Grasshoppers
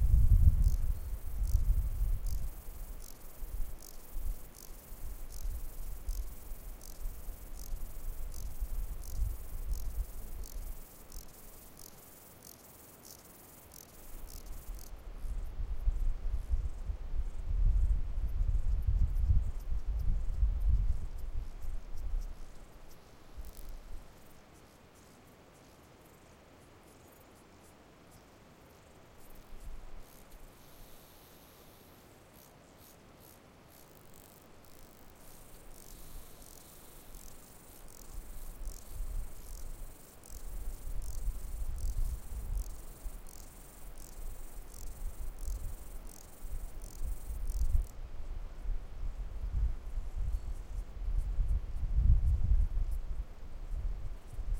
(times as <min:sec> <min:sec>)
0:00.0 0:15.4, 0:18.5 0:26.3, 0:28.8 0:48.0